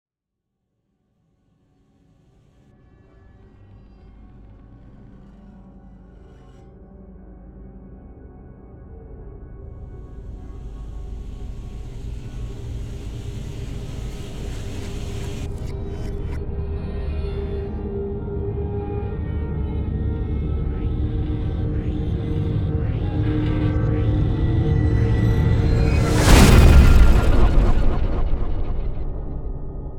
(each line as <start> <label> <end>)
9.8 Riser Hit 16.4
9.9 whoosh 16.4
10.0 impact 16.4
23.1 Riser Hit 29.9
23.5 whoosh 29.9
25.5 impact 29.8